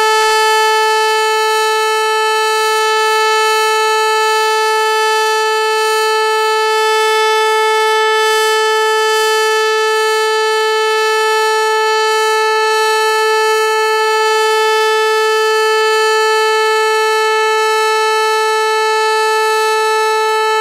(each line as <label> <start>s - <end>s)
german electro/mechanical/pneumatical-siren 0.0s - 20.6s